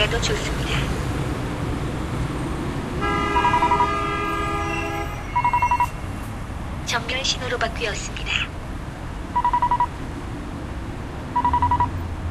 0.0s Talking traffic lights 1.0s
0.0s traffic 12.3s
6.9s Talking traffic lights 8.6s

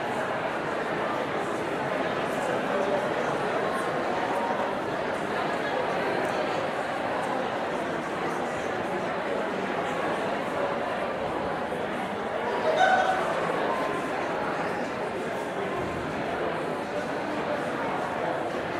0.0s Medium Crowd Chatter 18.7s

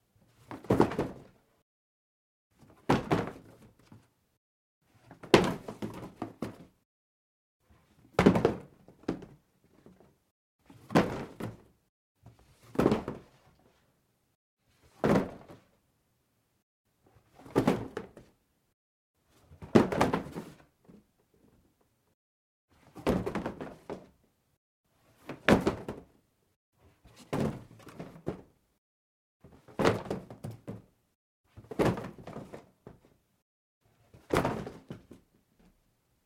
0.4s drop a pile of cardboard on the floor 1.4s
2.6s drop a pile of cardboard on the floor 4.1s
4.9s drop a pile of cardboard on the floor 6.7s
8.0s drop a pile of cardboard on the floor 10.1s
10.7s drop a pile of cardboard on the floor 13.5s
14.8s drop a pile of cardboard on the floor 15.7s
17.2s drop a pile of cardboard on the floor 18.3s
19.5s drop a pile of cardboard on the floor 21.0s
22.8s drop a pile of cardboard on the floor 24.2s
25.0s drop a pile of cardboard on the floor 26.2s
27.0s drop a pile of cardboard on the floor 28.5s
29.4s drop a pile of cardboard on the floor 30.9s
31.5s drop a pile of cardboard on the floor 33.2s
34.0s drop a pile of cardboard on the floor 35.2s

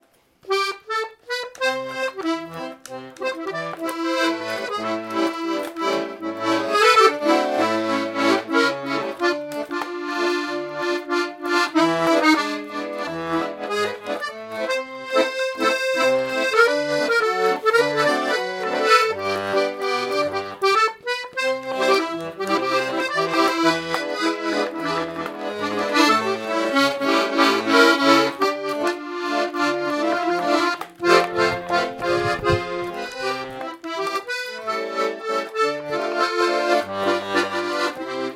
0.4s song played on accordion 38.3s

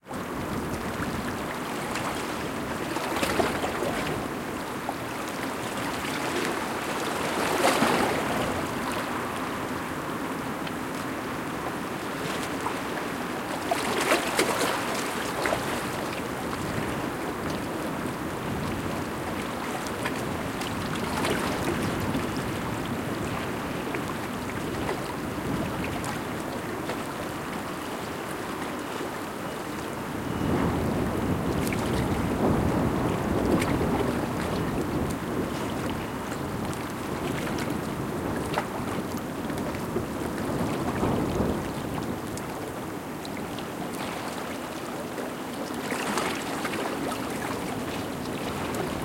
0.0s waves 49.0s
0.0s windy night 49.0s

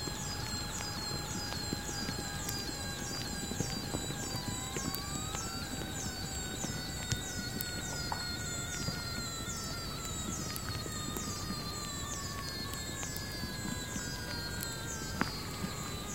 0.0s pieces of bark etc. in the soil make sounds 16.1s

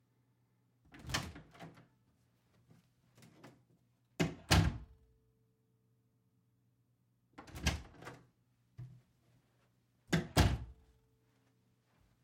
0.9s door being opened and closed 1.8s
4.2s door being opened and closed 5.0s
7.4s door being opened and closed 8.3s
10.1s door being opened and closed 10.8s
10.8s slight footsteps (on carpet) 12.2s

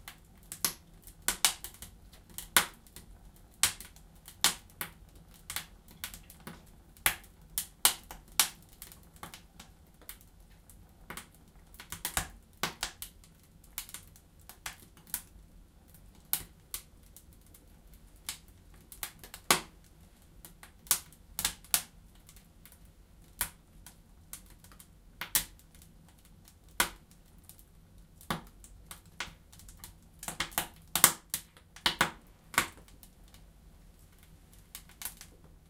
0.0s fire in the stove 35.6s

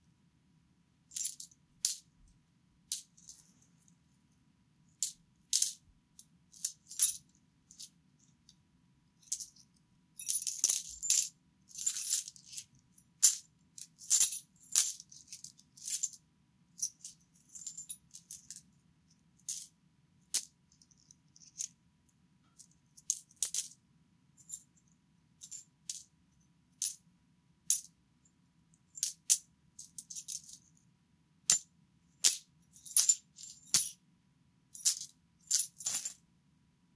5.0s Coins clinking and moving around 5.8s
6.6s Coins clinking and moving around 8.0s
10.2s Coins clinking and moving around 16.2s
20.3s Coins clinking and moving around 21.7s
23.0s Coins clinking and moving around 23.7s
25.4s Coins clinking and moving around 26.1s
29.0s Coins clinking and moving around 30.7s
32.2s Coins clinking and moving around 34.0s
34.8s Coins clinking and moving around 36.2s

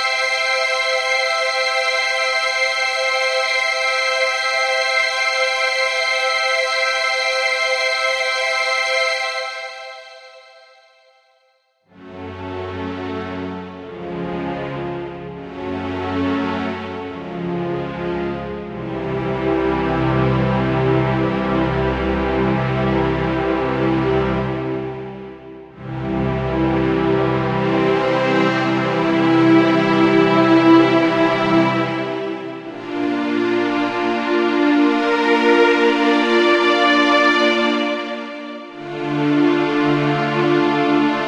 12.0s classical strings 41.2s

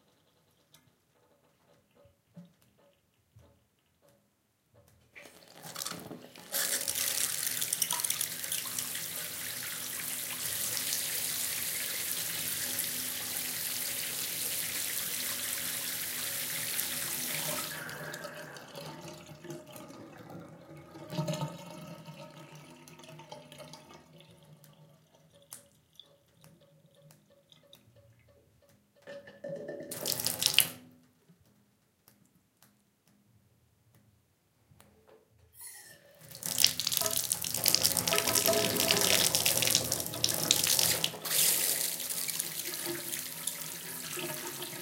0.0s filled the bathtub 33.2s
4.8s bath drain 28.3s
5.2s draind during a shower 19.5s
29.0s bath drain 30.8s
35.5s filled the bathtub 44.8s
35.6s bath drain 44.8s
35.6s draind during a shower 44.8s

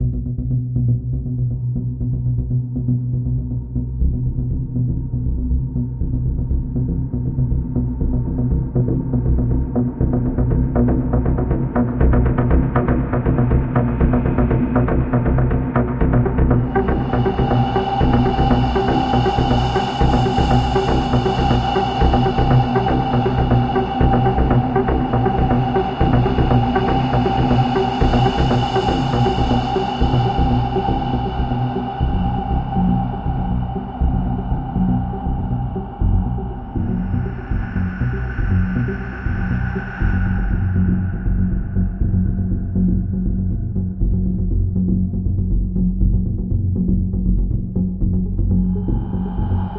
0.0s Synth Drone 49.7s

